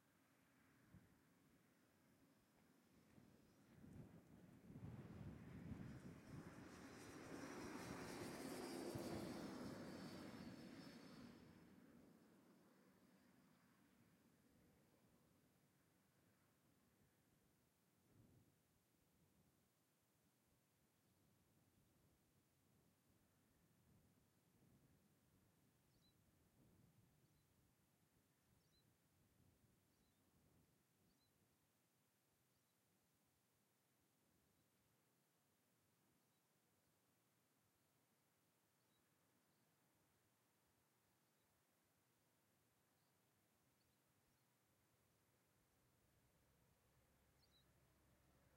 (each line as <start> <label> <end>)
0.0 Light intermittent wind 48.5
5.1 Passing cyclist freewheeling downhill 11.8
5.4 Sparse single vehicles (mainly cars and trucks) passing 14.2
47.2 very distant birdsong 47.8